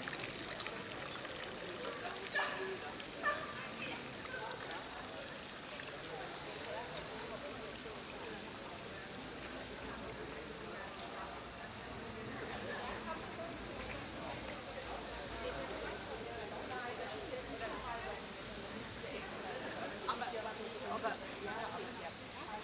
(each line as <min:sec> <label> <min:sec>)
0:00.0 construction site 0:22.6
0:00.0 fountain 0:22.6
0:00.0 tourist guide 0:22.6
0:00.3 several chats 0:22.6